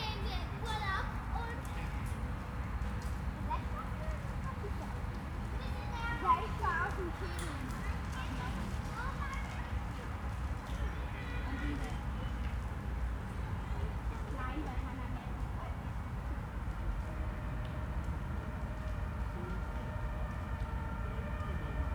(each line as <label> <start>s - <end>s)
children playing 0.0s - 2.2s
Busy roads are distant 0.0s - 21.9s
Trams rumble on the main roads 0.0s - 21.9s
children playing 3.5s - 12.5s
Sirens come and go 16.9s - 21.9s